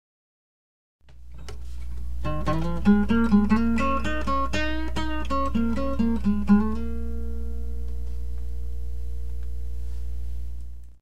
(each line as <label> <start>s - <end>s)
Blues lick my old guitar 2.2s - 8.4s